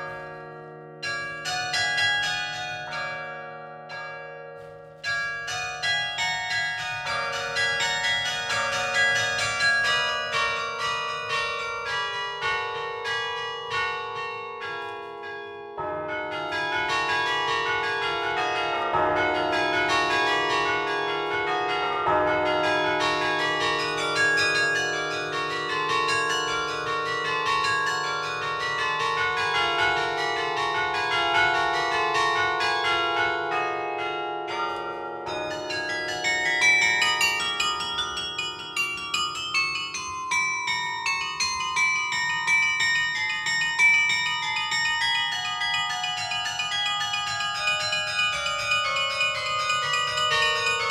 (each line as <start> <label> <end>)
0.0 Carillon 50.9